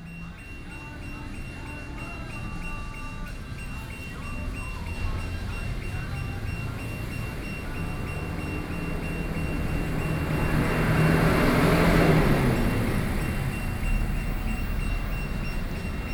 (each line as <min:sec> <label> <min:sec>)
0:00.0 Garage warning sound 0:16.1
0:00.0 Traffic Noise 0:16.1